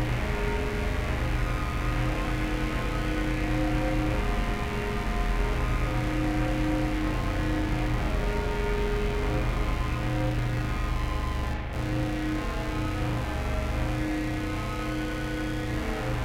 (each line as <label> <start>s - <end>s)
Drone 0.0s - 16.2s